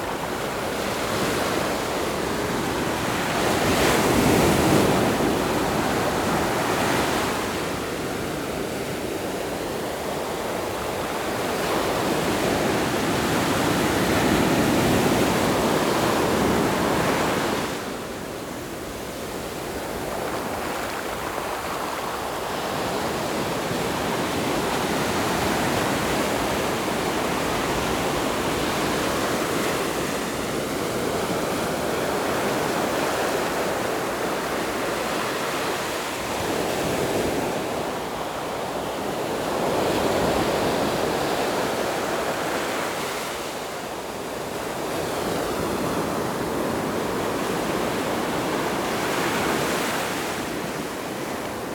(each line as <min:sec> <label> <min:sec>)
0:00.0 waves 0:51.7